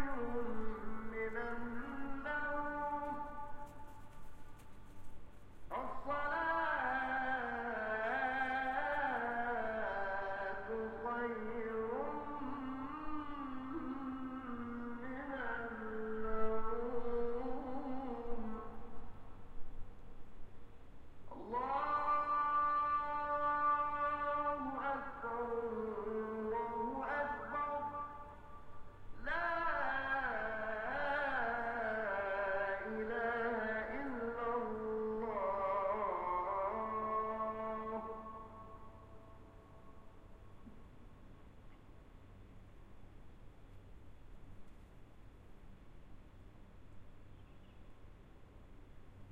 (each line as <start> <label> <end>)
0.0 call to prayer 19.5
21.3 call to prayer 40.9